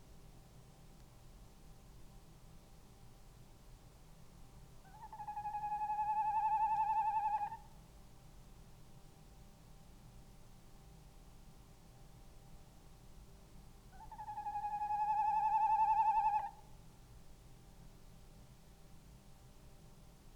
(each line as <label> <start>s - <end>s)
background noise 0.0s - 20.3s
tawny owl 4.8s - 7.7s
tawny owl 13.9s - 16.6s